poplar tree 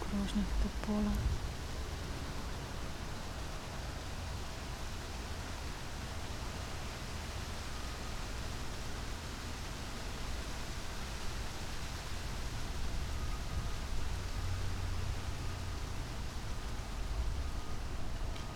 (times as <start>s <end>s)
0.0s 7.0s